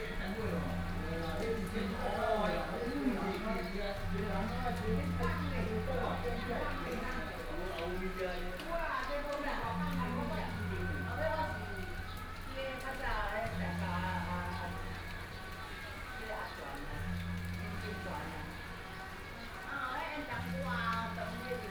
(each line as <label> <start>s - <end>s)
Rainy Day 0.0s - 21.7s
group of people chatting 0.0s - 21.7s